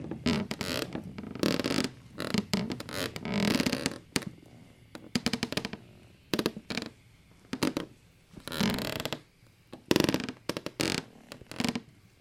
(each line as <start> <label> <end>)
0.0 creaking floor boards 4.3
5.1 creaking floor boards 6.9
7.5 creaking floor boards 9.2
9.9 creaking floor boards 11.8